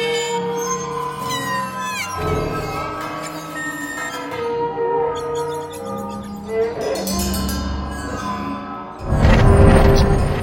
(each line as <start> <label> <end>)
0.0 waterphone 9.0
0.0 cello 10.4